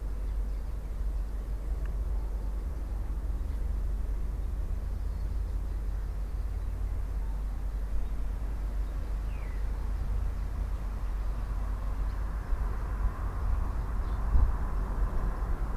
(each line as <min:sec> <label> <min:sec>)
0:00.0 Tui 0:15.7
0:00.0 industrial traffic passing by 0:15.7